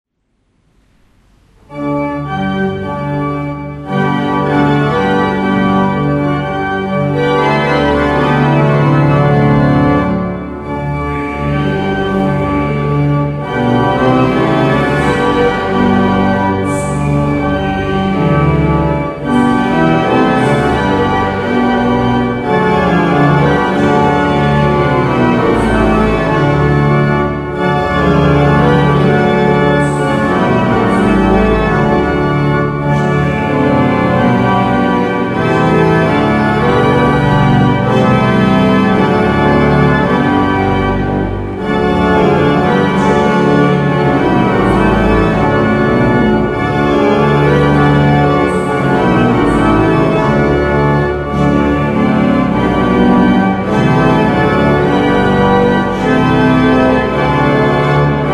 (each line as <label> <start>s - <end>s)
organ tutti 0.7s - 58.3s